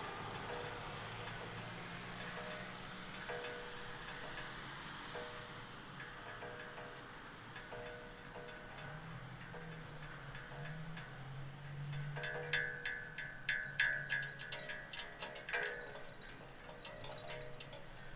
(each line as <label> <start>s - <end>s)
Flag poles playing in the wind 0.0s - 18.1s